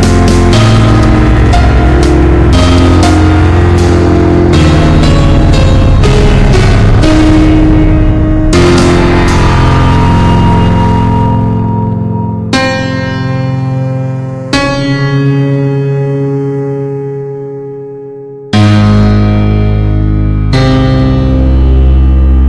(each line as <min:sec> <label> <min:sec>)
0:00.0 drum 0:11.6
0:00.0 feedback 0:15.0
0:00.0 piano 0:22.4